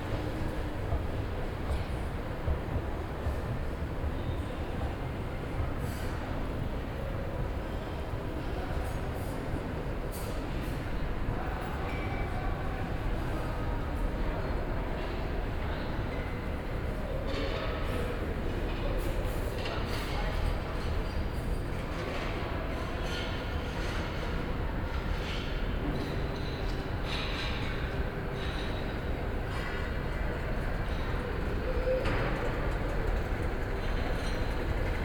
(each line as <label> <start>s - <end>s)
elevators and escalators 0.0s - 35.0s